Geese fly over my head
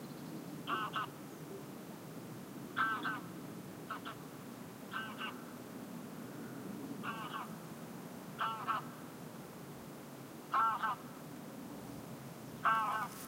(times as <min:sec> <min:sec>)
0:12.6 0:13.2